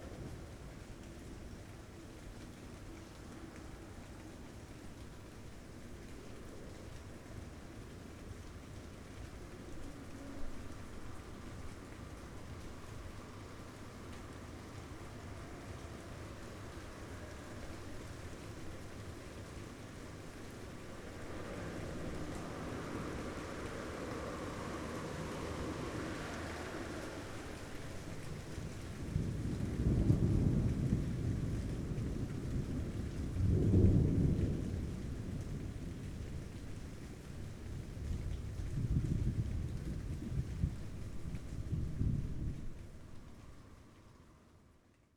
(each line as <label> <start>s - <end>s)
rain 0.0s - 45.1s
thunder 29.0s - 36.3s